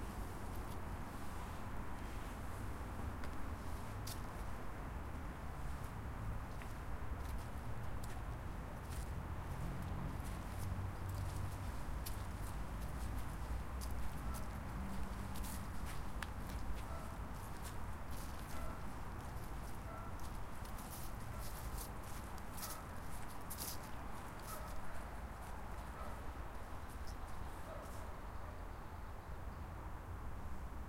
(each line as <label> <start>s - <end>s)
steps in the autumn leaves 5.6s - 28.2s